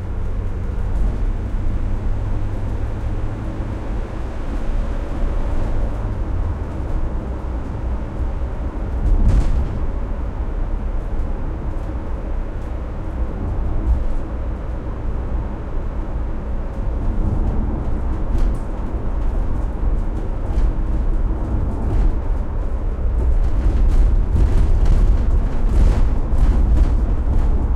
0.0s Driving On Bad Road 27.7s

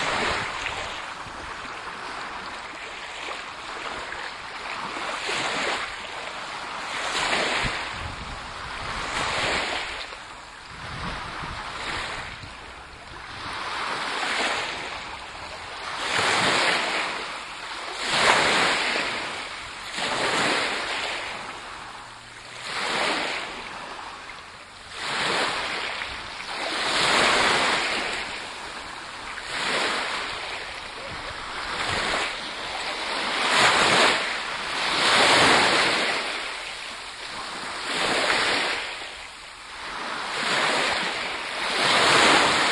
0.0s Waves 42.7s

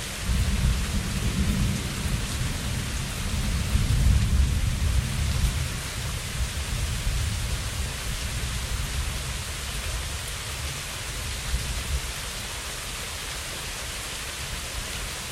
0.0s rain 15.3s
0.2s light thunder, often 12.1s

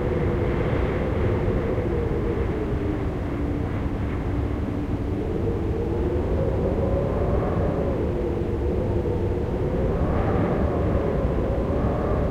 0.0s Gusty wind howling and humming in the corners of a house 12.3s

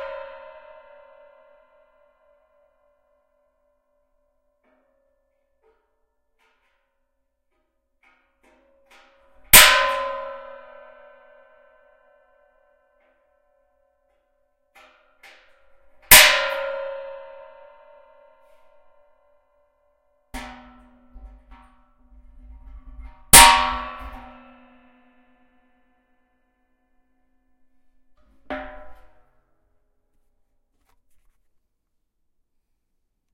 8.0s Hitting metal barrel with prick punch 11.4s
14.8s Hitting metal barrel with prick punch 18.8s
20.4s Hitting metal barrel with prick punch 25.0s
28.2s Hitting metal barrel with prick punch 29.3s

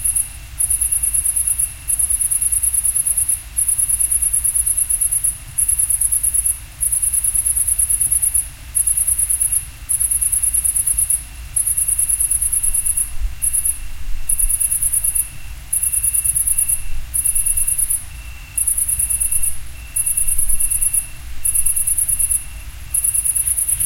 0.0s normal mid-range-crickets 23.8s

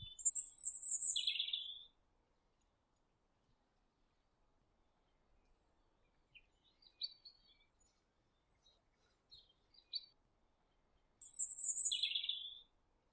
0.0s birds 1.9s
5.0s birds 12.7s

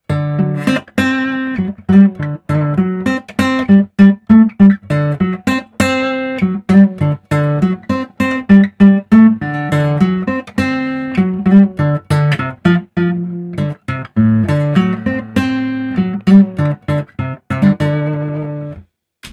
0.0s guitar 18.8s

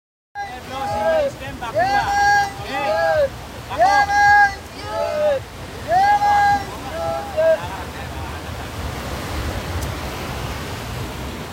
0.4s waves 11.5s
0.4s Fishermen pushing boat 11.5s

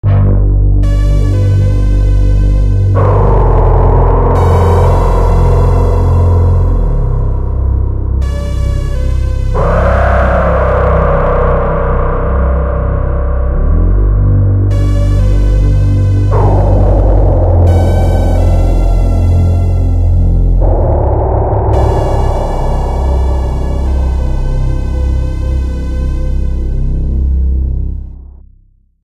0.0s synth 28.4s

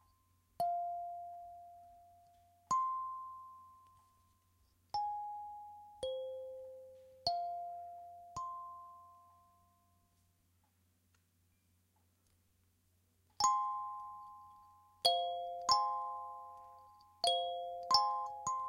15.1s kalimba 18.6s

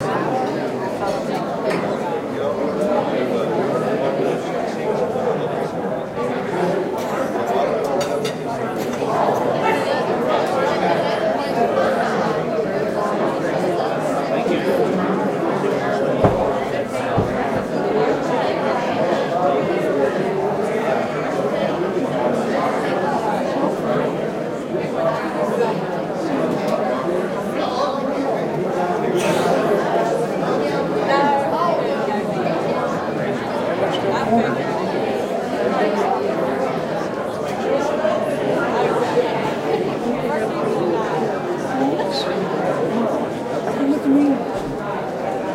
0.0s Several hundred people talking 45.5s

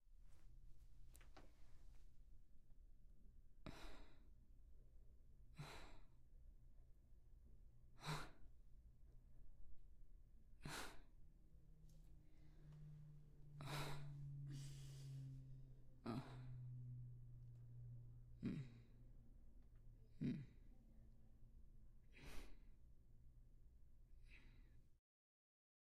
16.0s Murmuring 17.1s
18.4s Murmuring 18.9s

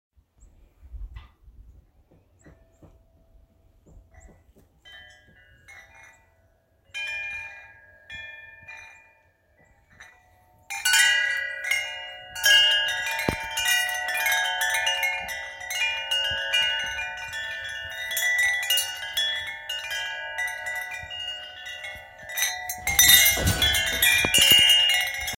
2.1s Wind chimes outside of my house being jingled around 25.3s

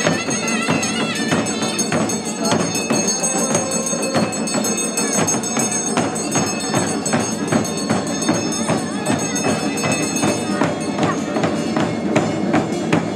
0.0s Enthusiastic crowd 13.1s
0.0s bells 13.1s
0.0s drums 13.1s

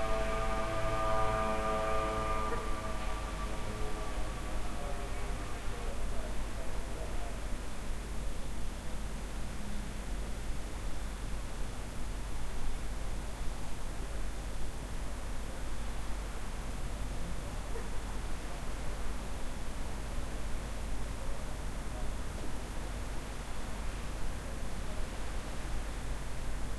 0.0s moped 4.3s

